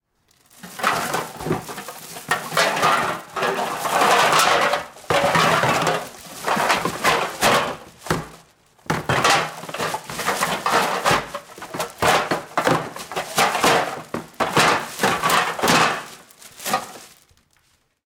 picking up a plastic bag of recycled cans 0.3 - 17.3

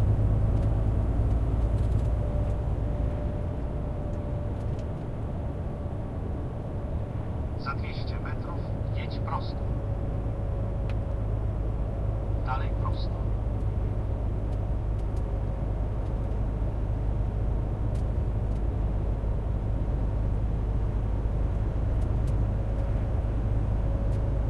engine 0.0 - 24.4
voice of two navigators 7.6 - 9.7
voice of two navigators 12.4 - 13.4

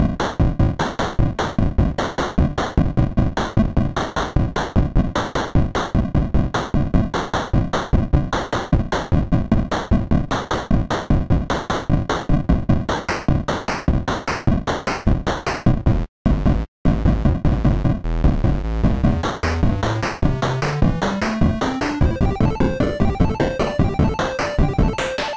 Pixel Song #5 17.6 - 25.3

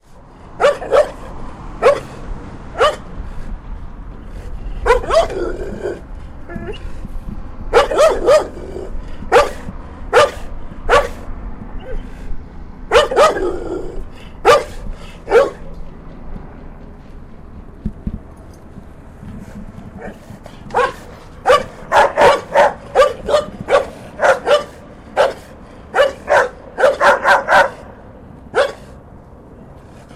slobbery barks 0.6 - 3.1
slobbery barks 4.3 - 7.0
slobbery barks 7.7 - 12.1
slobbery barks 12.9 - 15.7
slobbery barks 20.0 - 29.0

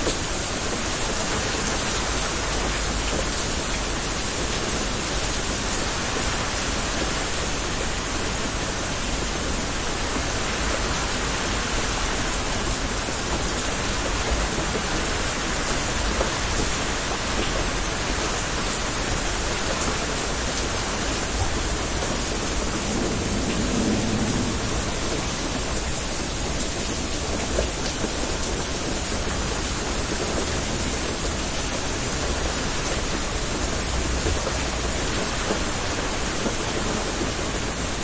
Rain over a car 0.0 - 38.0
car passes 22.8 - 25.7

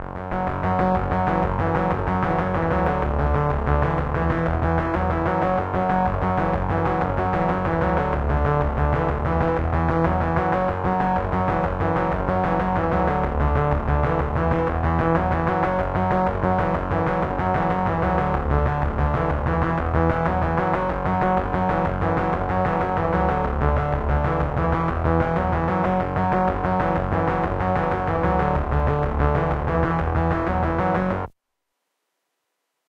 synth arpeggio bassline 0.0 - 31.3

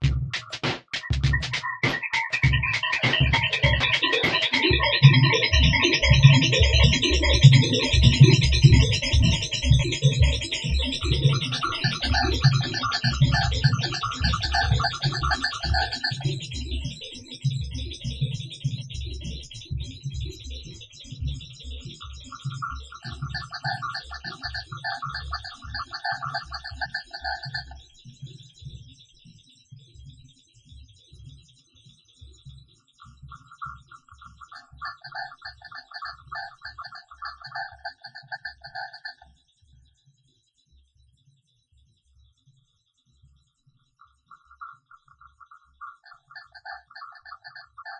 drum synth 0.0 - 16.6

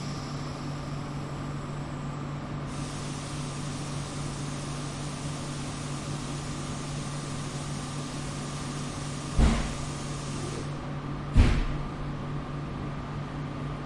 Train 0.0 - 11.0
bus 0.0 - 13.8

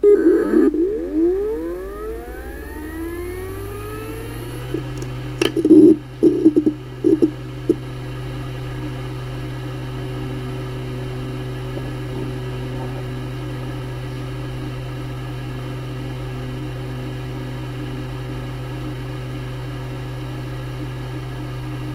External HDD startup 0.0 - 7.8

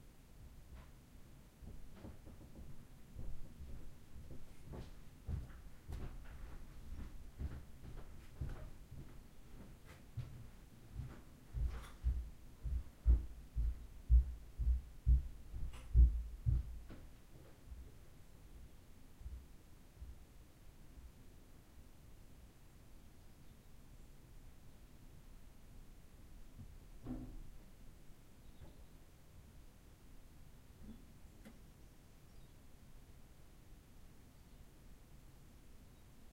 Walking upstairs on wodden floor 0.4 - 20.4
coming down the wood stairs 1.6 - 20.3

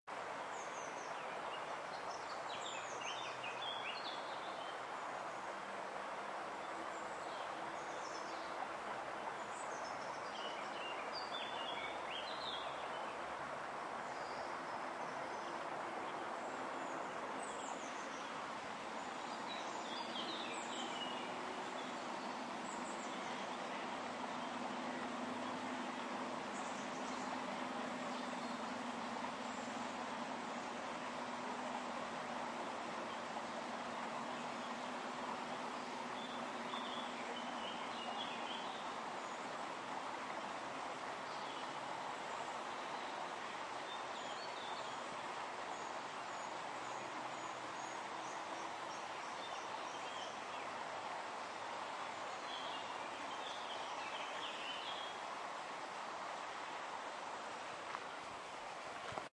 water 0.0 - 59.3
birds 0.2 - 56.0

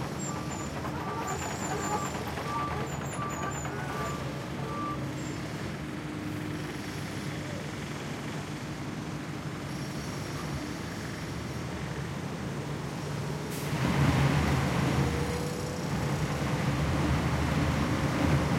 asphalt shredder working 0.0 - 7.1

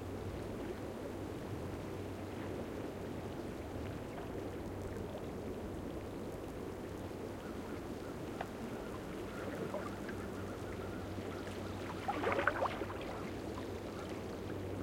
Quiet waves lapping again some rocks 2.3 - 14.8
water moving through the seaweed 7.0 - 14.8

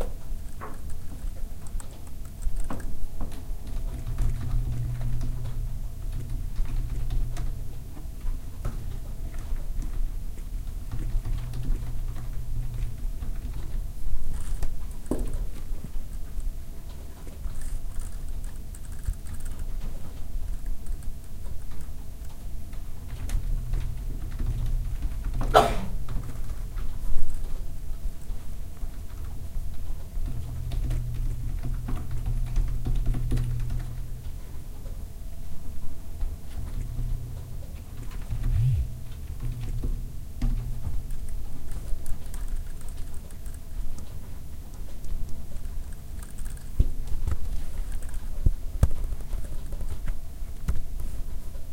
typing 8.7 - 25.5
vibrations 36.6 - 44.2
typing 39.3 - 51.2

